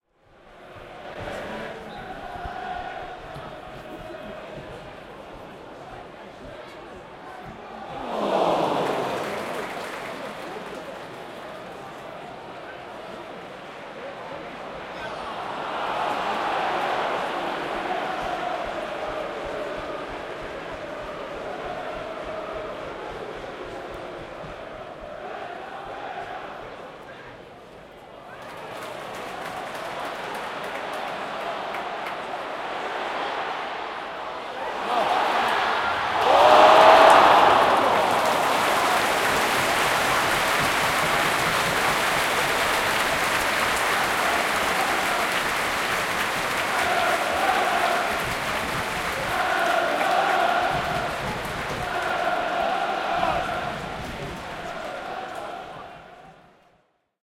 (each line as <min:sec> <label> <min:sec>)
0:00.0 Football Crowd 0:57.2
0:07.7 cheers 0:12.4
0:14.9 cheers 0:23.0
0:28.2 cheers 0:56.4